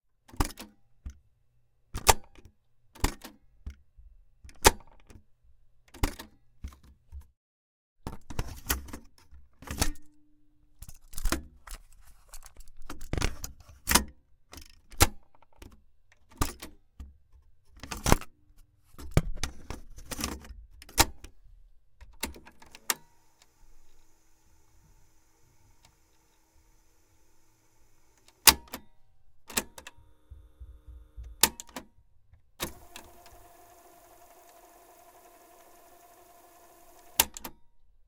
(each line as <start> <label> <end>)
22.2 cassette tape deck open, close, rewind, clicks 28.9
29.5 cassette tape deck open, close, rewind, clicks 31.9
32.6 cassette tape deck open, close, rewind, clicks 37.6